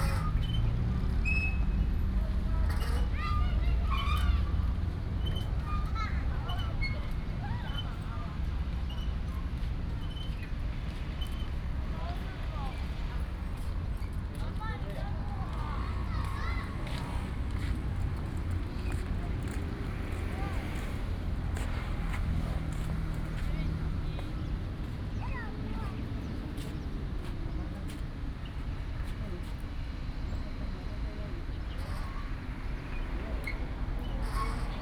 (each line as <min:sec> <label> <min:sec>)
0:10.7 Traffic Sound 0:34.8